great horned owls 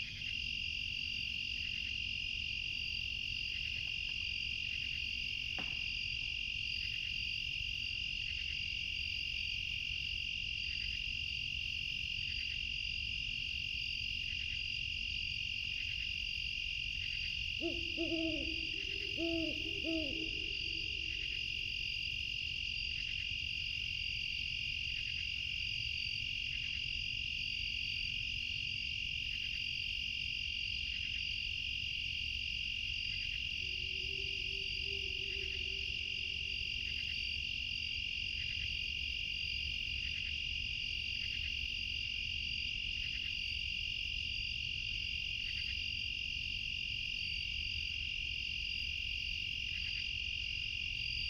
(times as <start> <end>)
17.0 21.8, 33.1 37.3